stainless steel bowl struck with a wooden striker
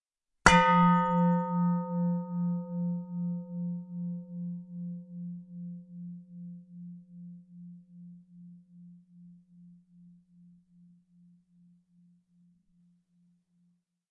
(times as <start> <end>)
0.4 8.6